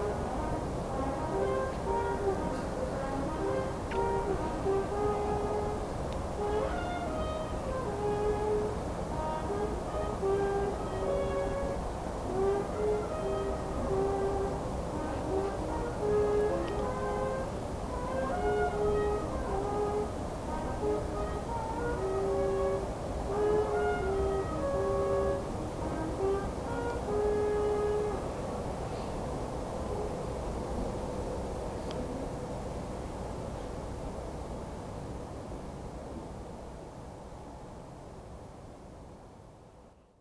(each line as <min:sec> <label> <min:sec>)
0:00.0 traditional brass ensemble 0:30.6